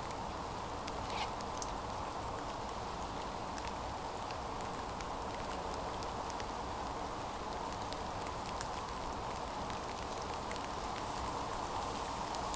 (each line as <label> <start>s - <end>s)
Rain 0.0s - 12.5s
stream 0.0s - 12.5s